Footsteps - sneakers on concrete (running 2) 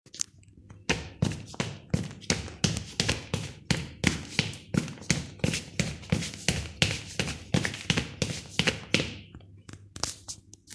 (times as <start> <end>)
0.8 9.3